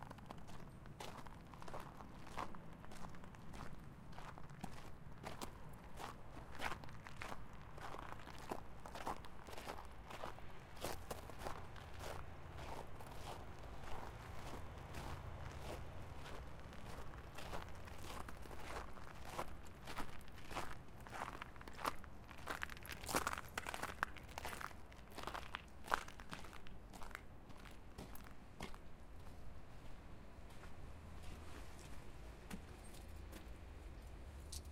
28.0s footsteps 33.6s

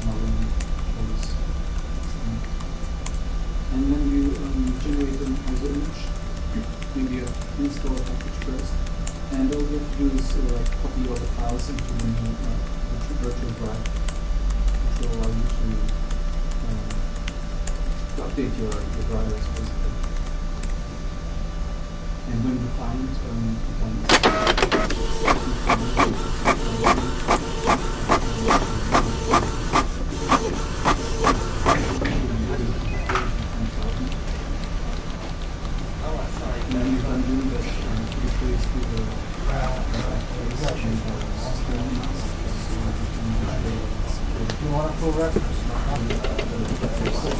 0.0s office activities 21.0s
4.2s typing 20.8s
24.0s printer 35.5s
24.0s office activities 47.3s
24.1s fax 33.3s
24.1s telephone 25.4s
24.7s paper 32.0s
36.0s voices 47.3s
36.2s printer 43.9s
37.8s paper 43.4s
44.6s printer 47.3s

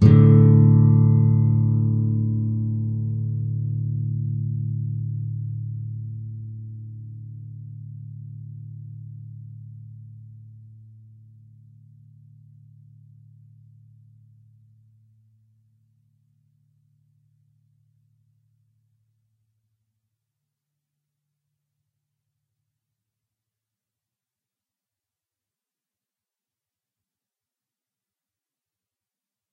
0.0s Open A (5th) and D (4th) strings in a chord 7.5s

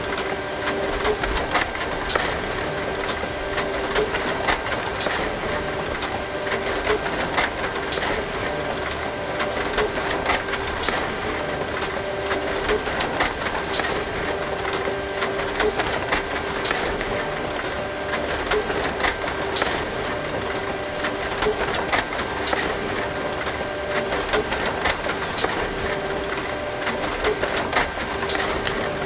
0.0s printer 29.0s

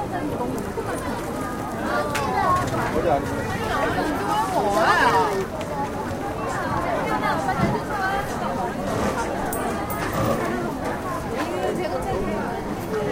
0.0s Street sounds 13.1s

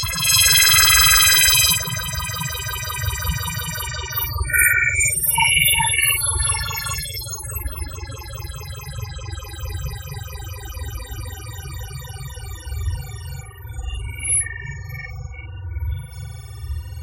0.0s science fiction noise 7.1s

